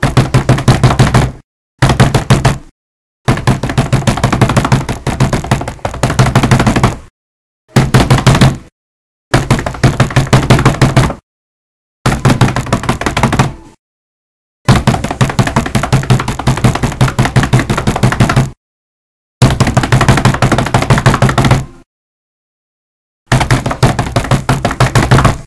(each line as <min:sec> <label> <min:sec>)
0:00.0 slam your hands so many times as fast as you can 0:02.7
0:03.3 slam your hands so many times as fast as you can 0:07.1
0:23.3 slam your hands so many times as fast as you can 0:25.4